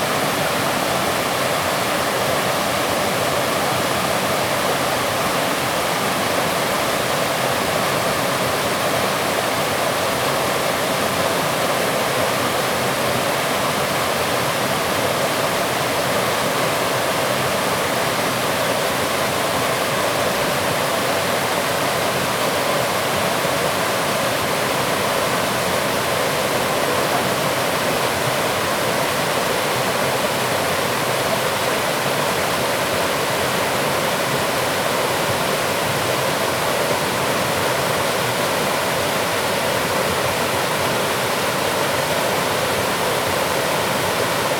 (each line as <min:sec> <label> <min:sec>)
0:00.0 Stream 0:44.5
0:00.0 Waterfalls 0:44.5